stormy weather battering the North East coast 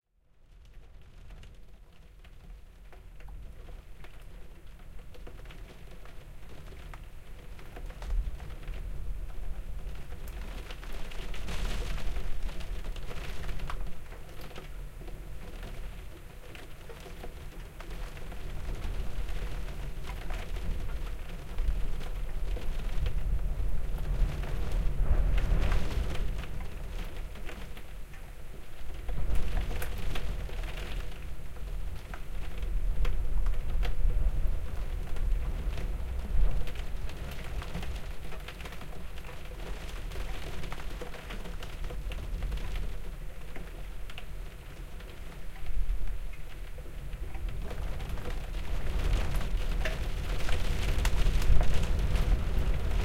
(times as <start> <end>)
17.1 53.0